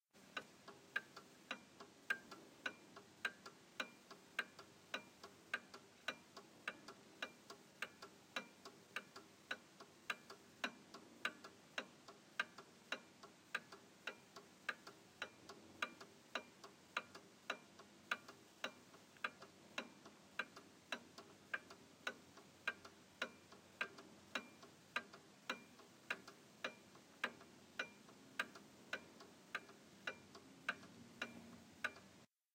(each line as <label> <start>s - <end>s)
antique clock tick 0.2s - 32.3s